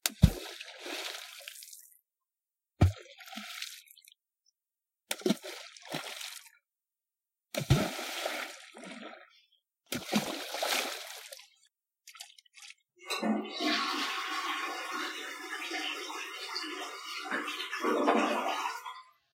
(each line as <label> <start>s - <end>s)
threw some rocks in lake 7.5s - 9.2s
toilet 13.0s - 19.2s